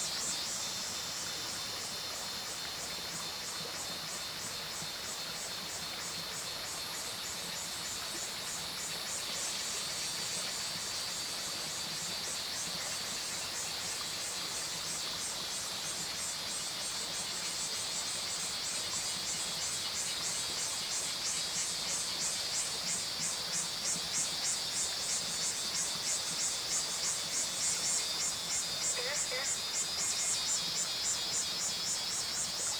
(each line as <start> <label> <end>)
0.0 Cicadas called 32.7
16.9 Frogs called 32.7